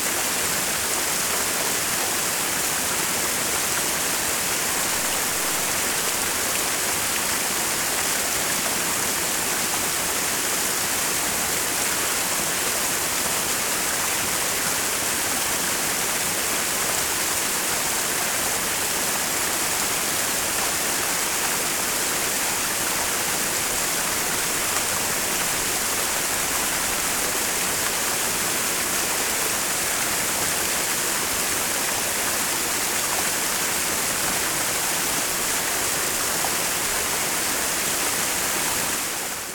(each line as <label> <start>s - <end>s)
waterfall 0.0s - 39.5s